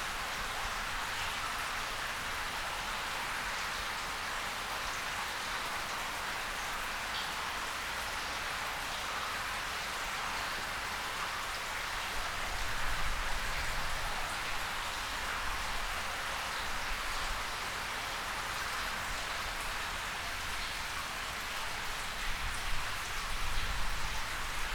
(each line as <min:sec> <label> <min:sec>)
0:00.0 running water sewer 0:24.7